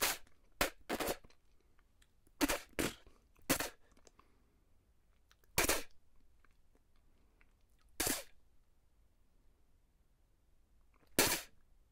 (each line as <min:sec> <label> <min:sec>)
0:00.0 spitting sounds 0:01.4
0:02.3 spitting sounds 0:04.1
0:05.4 spitting sounds 0:06.0
0:07.8 spitting sounds 0:08.4
0:11.0 spitting sounds 0:11.6